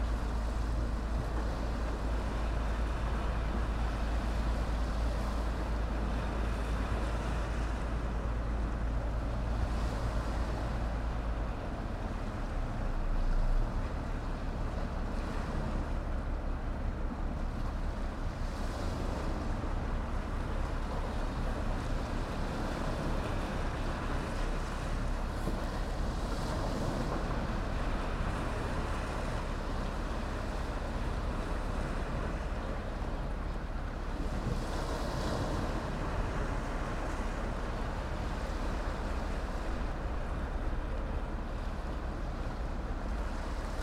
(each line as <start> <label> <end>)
0.0 fishing boats 43.8
0.0 waves 43.8